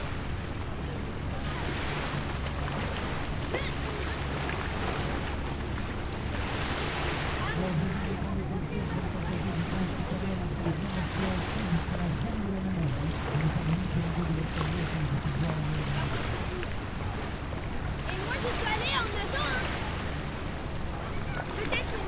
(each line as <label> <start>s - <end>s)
Beach Sound 0.0s - 22.0s